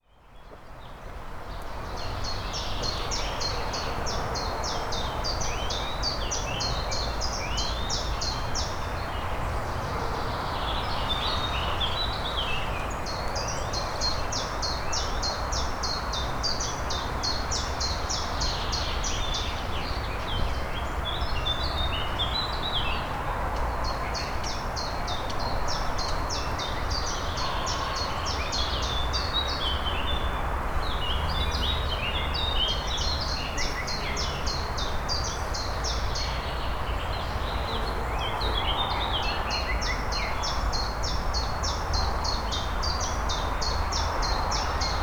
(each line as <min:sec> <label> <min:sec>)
0:00.0 hum of traffic 0:45.0